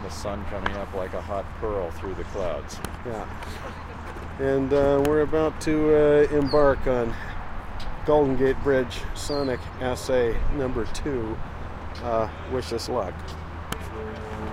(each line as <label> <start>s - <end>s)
traffic 0.0s - 14.5s
conversation 0.1s - 14.3s
foghorns 13.8s - 14.5s